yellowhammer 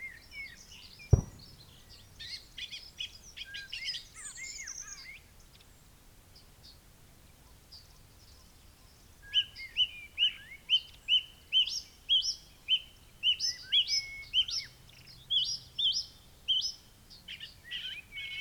1.2s 1.8s

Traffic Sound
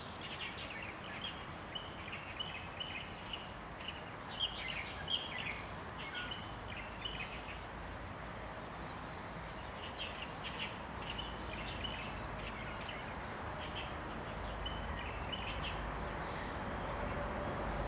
13.6s 17.8s

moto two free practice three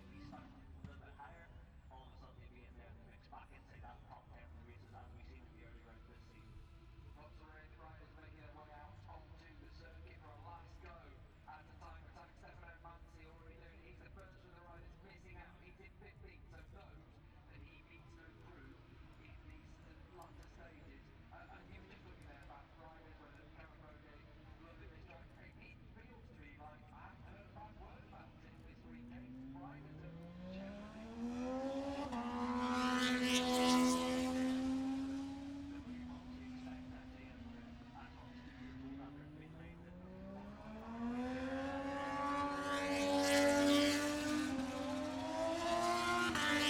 21.5s 46.6s

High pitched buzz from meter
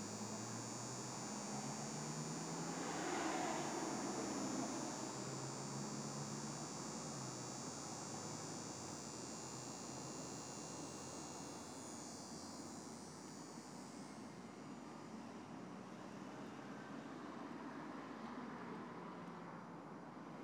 0.0s 15.2s

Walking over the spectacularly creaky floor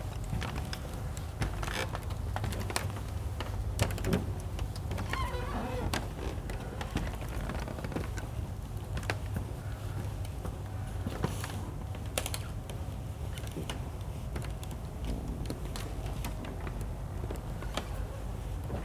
4.9s 9.2s, 15.0s 18.8s

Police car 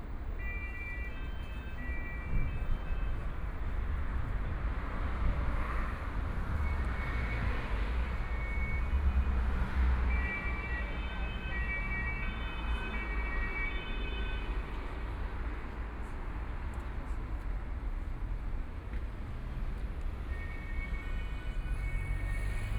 5.9s 14.5s, 20.2s 22.7s

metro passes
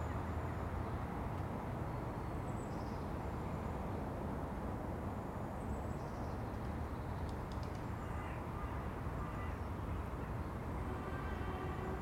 9.9s 12.0s

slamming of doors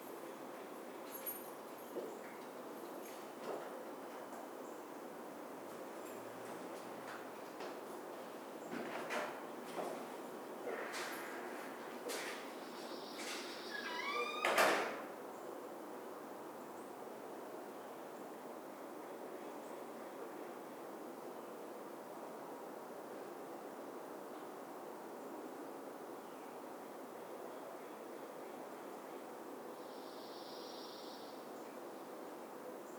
13.3s 15.1s

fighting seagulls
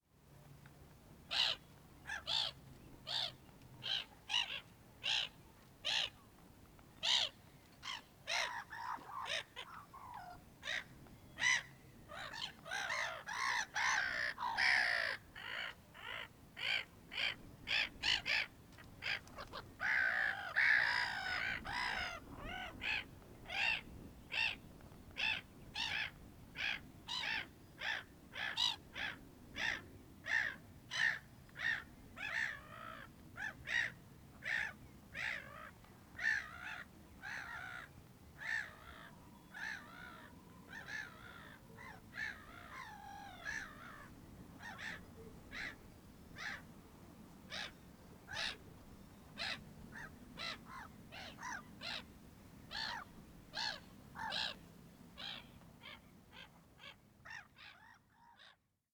12.2s 23.8s

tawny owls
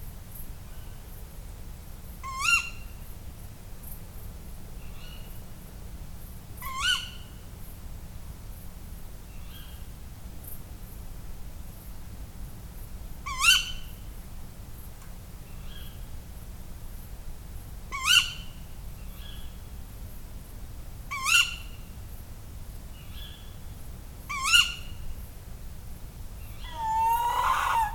26.4s 27.9s

